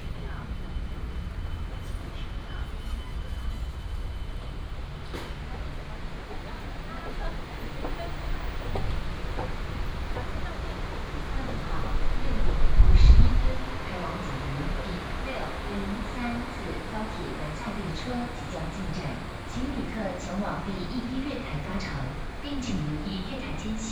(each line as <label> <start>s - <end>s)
Station information broadcast 10.4s - 23.9s